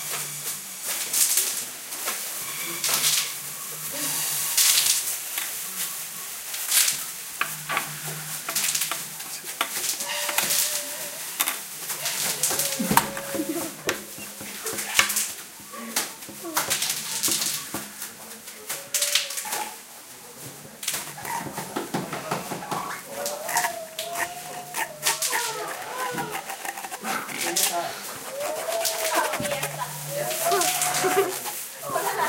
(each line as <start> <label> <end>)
21.1 seagulls 31.6